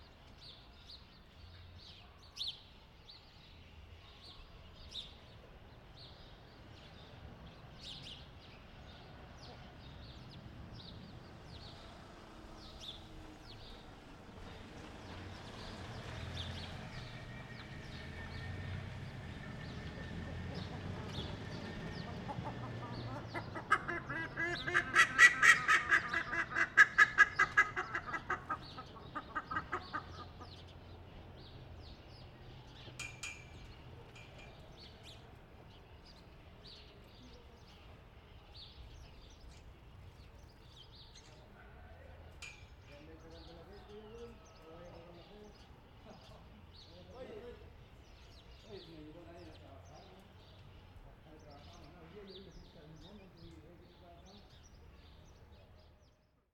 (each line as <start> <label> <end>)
0.0 BIRDS 56.5